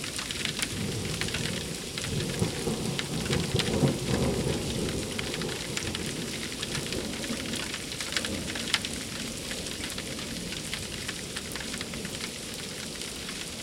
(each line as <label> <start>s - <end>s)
rain 0.0s - 13.6s
Heavy Thunder Storm 0.6s - 7.2s